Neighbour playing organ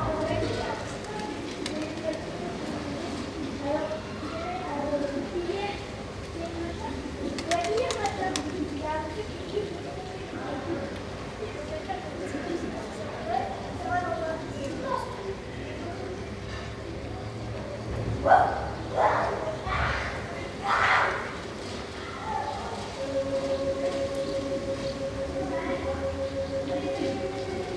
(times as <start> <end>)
0.0 1.6, 22.8 27.7